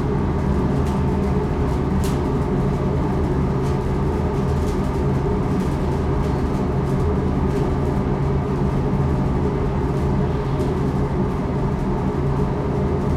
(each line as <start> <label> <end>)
0.0 permanent ventilation hum 13.1